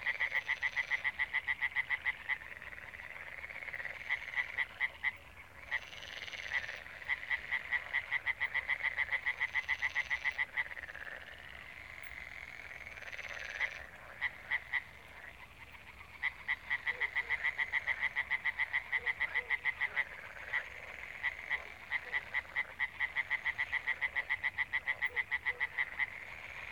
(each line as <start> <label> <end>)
0.0 frogs 26.7